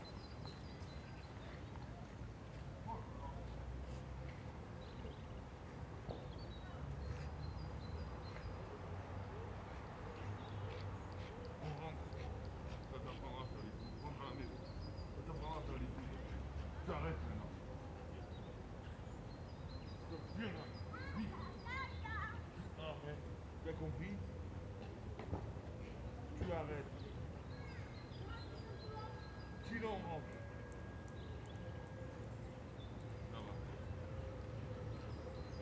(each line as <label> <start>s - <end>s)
Dog walkers talking to their dogs 0.2s - 35.6s
children kicking footballs in the distance 24.8s - 31.9s